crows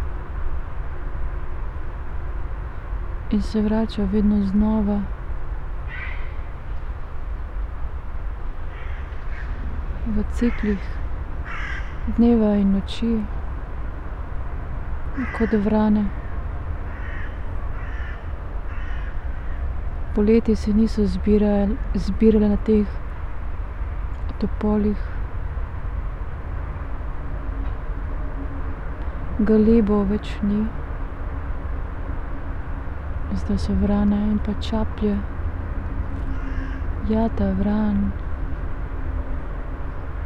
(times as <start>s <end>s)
5.9s 6.5s, 8.6s 9.7s, 10.5s 12.1s, 15.2s 19.7s, 36.2s 37.0s